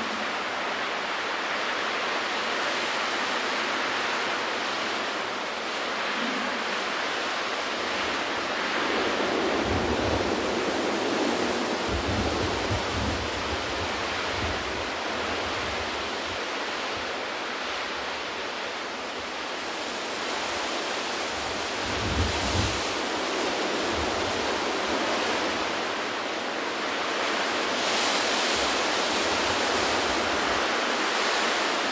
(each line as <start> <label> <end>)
0.0 leaves 31.9
0.0 strong wind 31.9